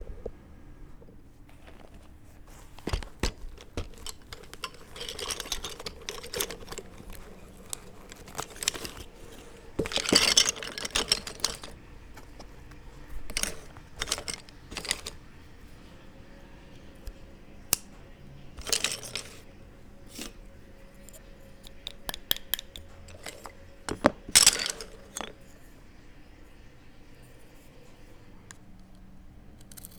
Preparing the Calligraphy Pen 1.0 - 15.2
Preparing the Calligraphy Pen 18.6 - 19.4

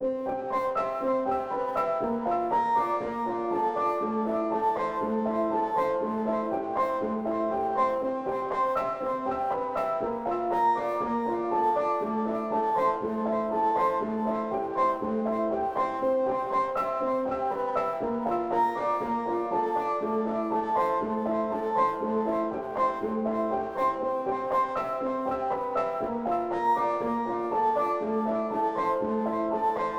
piano 0.0 - 29.9

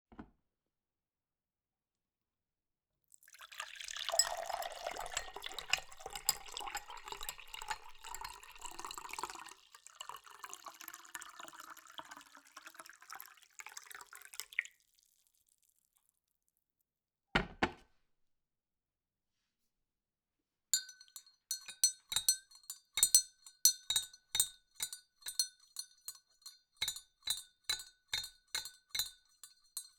Fill glass with water 3.2 - 15.7
stir with a metal stirrer 20.8 - 29.9
Fill glass with water 26.8 - 29.9

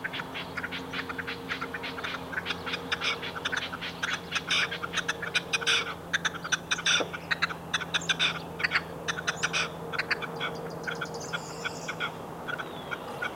Calls of Red-legged Partridges 0.0 - 13.3
noise from a distant road 0.0 - 13.3
passing plane 0.0 - 13.3

